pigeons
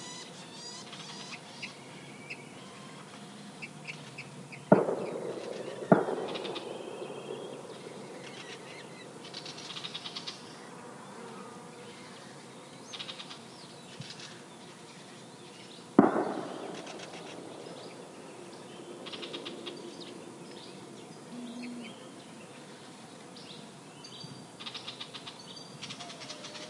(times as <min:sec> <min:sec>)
0:24.6 0:26.6